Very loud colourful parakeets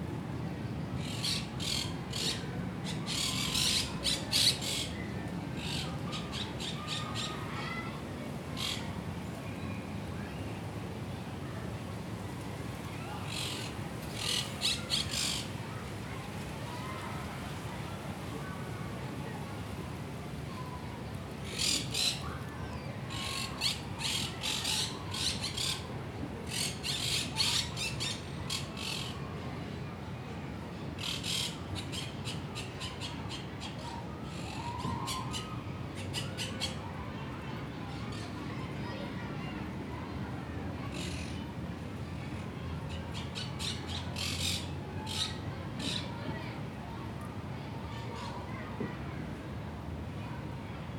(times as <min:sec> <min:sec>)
0:03.1 0:04.8, 0:23.1 0:25.8, 0:26.5 0:29.1, 0:43.1 0:46.1